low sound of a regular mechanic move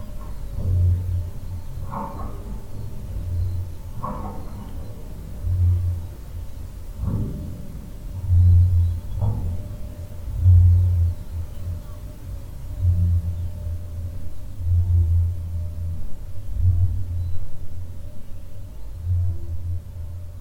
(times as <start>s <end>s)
0.0s 15.8s